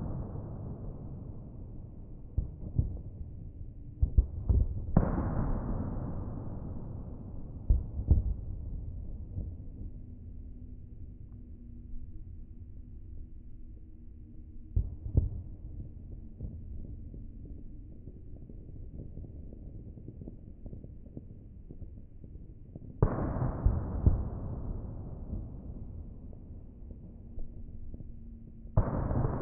explosion 28.8 - 29.4

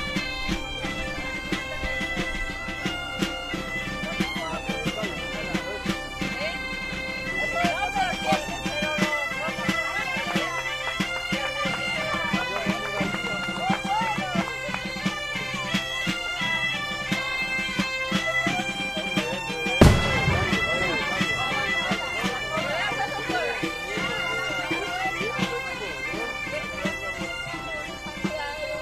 bagpipes 0.0 - 28.8
people 0.0 - 28.8
wind 0.0 - 28.8
cracks from fireworks 19.8 - 22.0

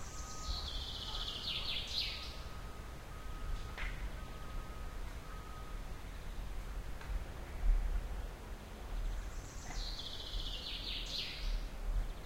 beep of the truck 0.0 - 6.1
birds 0.0 - 6.6
birds 8.9 - 12.2

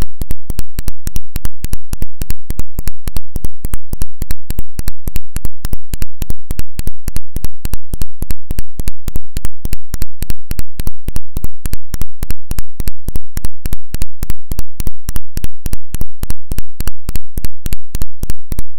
click 0.0 - 18.7
ground loop 0.0 - 18.7

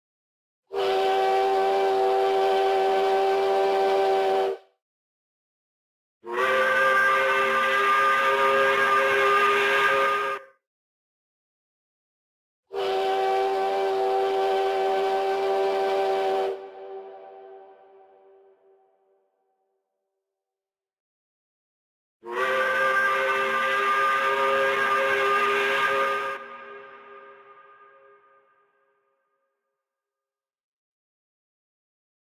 Factory whistle 0.7 - 4.6
steam train whistle 0.7 - 4.7
Factory whistle 6.2 - 10.4
steam train whistle 6.2 - 10.6
Factory whistle 12.7 - 18.7
steam train whistle 12.7 - 18.8
Factory whistle 22.2 - 28.8
steam train whistle 22.2 - 28.8

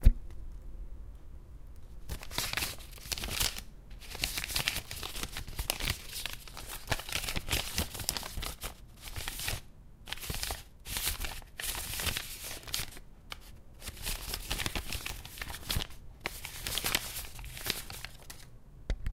Shulffing paper and book 2.0 - 18.5

